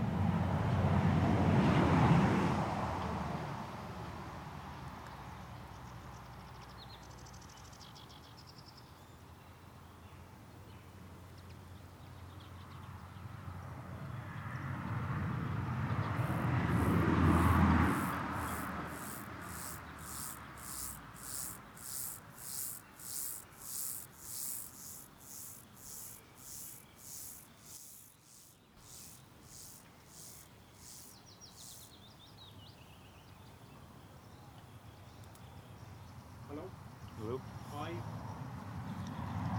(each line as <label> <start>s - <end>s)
passing cars 14.8s - 31.8s
grasshoppers 16.2s - 32.1s